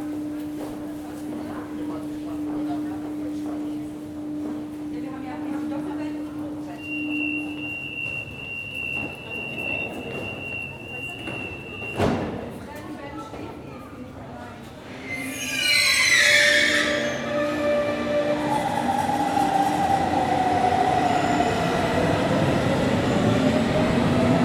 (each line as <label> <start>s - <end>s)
trains comming and going 6.7s - 12.5s
trains comming and going 14.6s - 24.4s